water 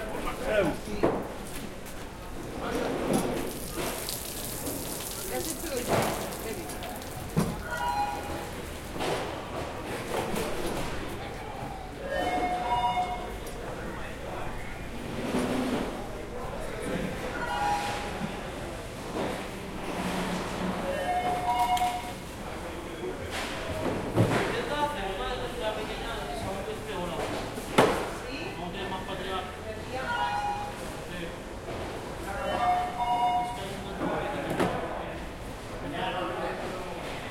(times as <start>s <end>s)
2.6s 9.0s